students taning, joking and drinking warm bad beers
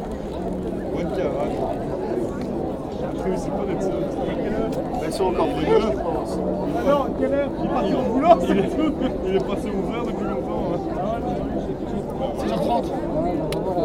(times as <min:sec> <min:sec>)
0:03.1 0:13.8